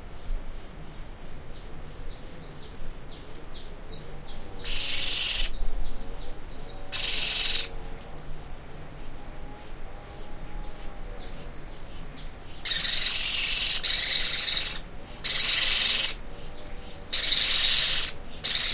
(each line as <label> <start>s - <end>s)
baby pionus (parrots) screaming on the roof 4.7s - 5.5s
baby pionus (parrots) screaming on the roof 6.9s - 7.7s
baby pionus (parrots) screaming on the roof 12.6s - 16.2s
baby pionus (parrots) screaming on the roof 17.1s - 18.7s